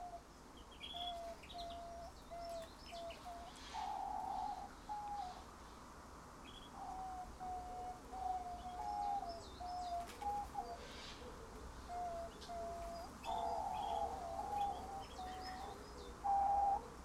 11.9s canaries 16.8s

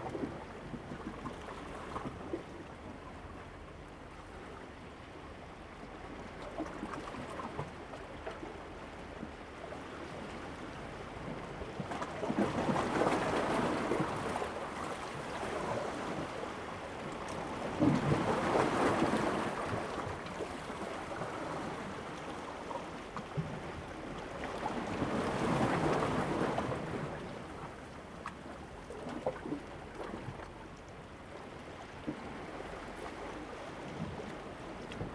0.0s waves 35.1s

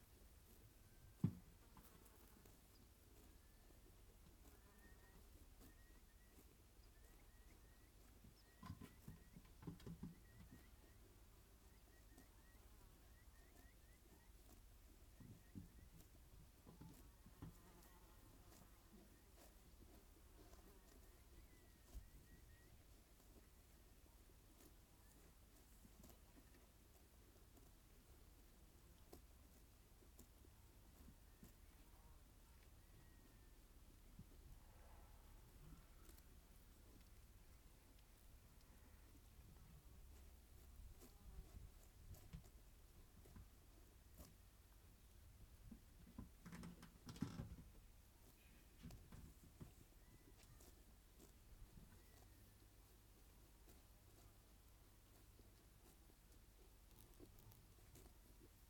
0.1s grazing sheep 44.8s
45.7s grazing sheep 58.6s

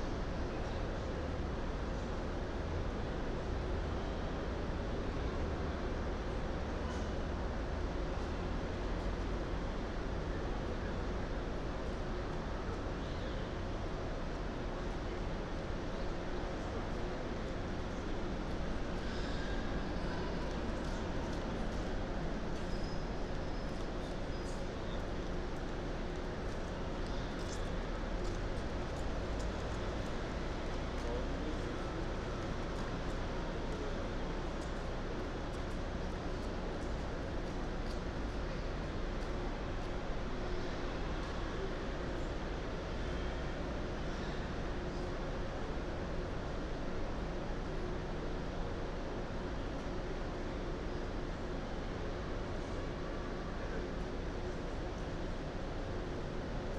14.8s traffic 43.8s

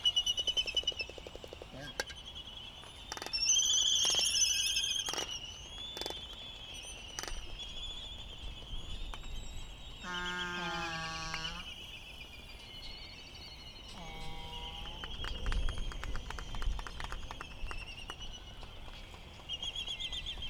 9.9s calls from bonin petrels 12.2s
13.9s calls from bonin petrels 15.3s

